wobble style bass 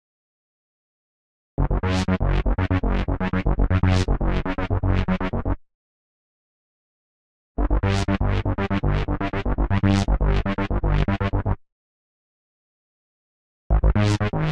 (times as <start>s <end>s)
1.6s 5.6s, 7.6s 11.6s, 13.7s 14.5s